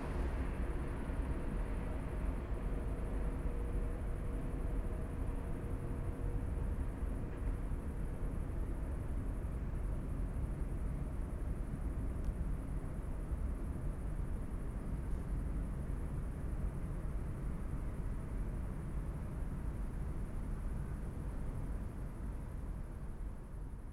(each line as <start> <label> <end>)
0.0 cargo trains 10.7